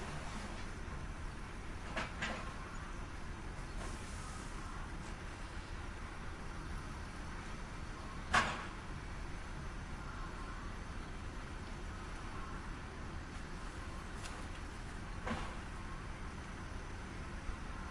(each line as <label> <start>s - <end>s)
forklift engine 0.0s - 17.9s